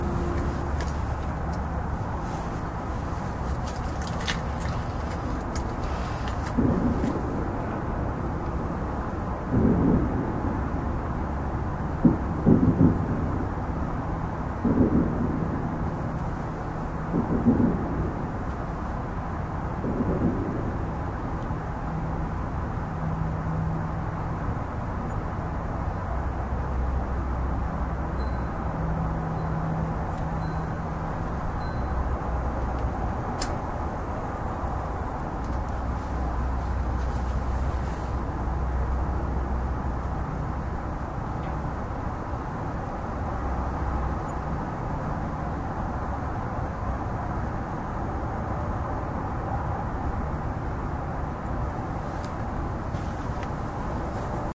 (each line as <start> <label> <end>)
0.0 other suburban sounds 54.5
5.0 distant fireworks 8.6
12.0 distant fireworks 13.7
14.6 distant fireworks 16.1
17.0 distant fireworks 21.3